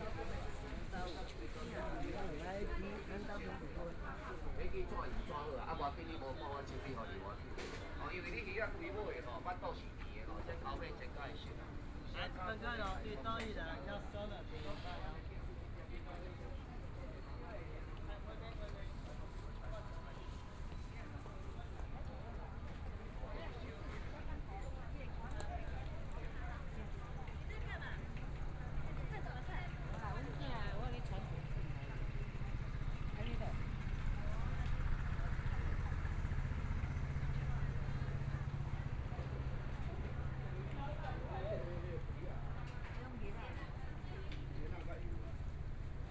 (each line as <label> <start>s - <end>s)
Walking through the market 0.0s - 46.1s
Traffic Sound 26.8s - 44.6s